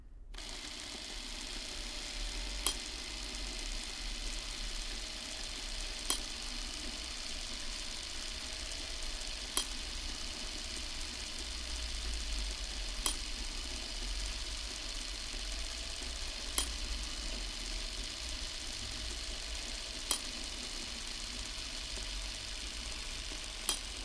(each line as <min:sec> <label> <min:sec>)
0:00.3 Motor da antiga camera 16mm 0:24.0
0:00.4 camera 0:24.0